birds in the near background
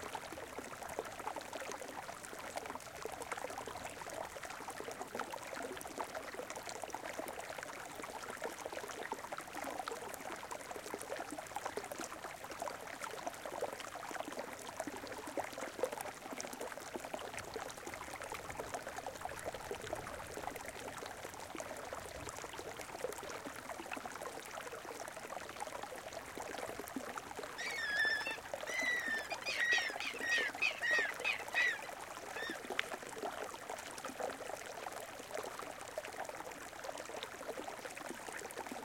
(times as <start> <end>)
27.6 32.6